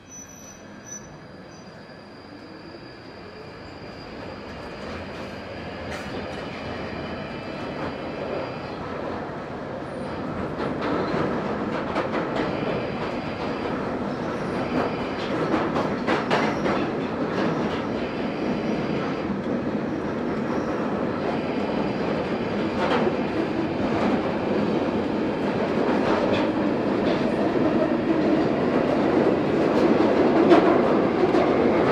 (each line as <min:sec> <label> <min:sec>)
0:00.0 Doors closing on a london underground train 0:31.9
0:00.0 full train journey through tunnel 0:31.9